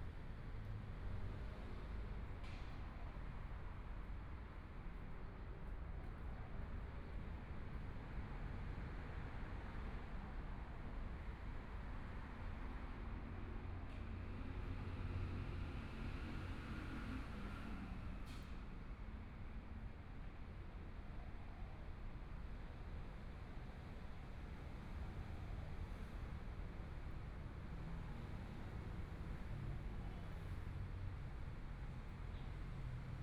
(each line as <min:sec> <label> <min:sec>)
0:22.2 Traffic Sound 0:33.2